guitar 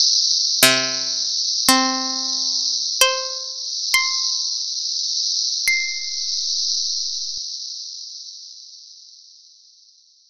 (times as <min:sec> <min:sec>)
0:00.6 0:04.4